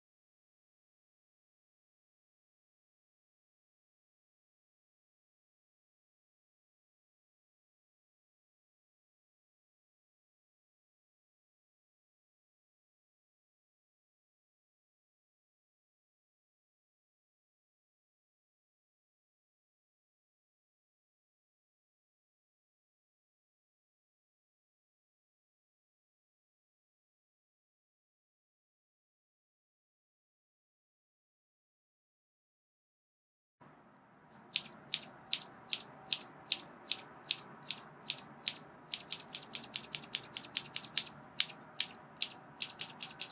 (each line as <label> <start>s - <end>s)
Continuous scissor snipping 34.3s - 43.3s